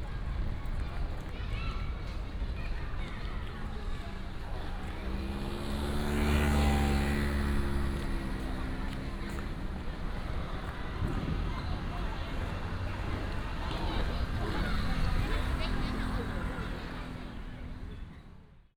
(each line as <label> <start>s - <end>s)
Traffic sound 0.0s - 18.7s
Child 0.1s - 4.2s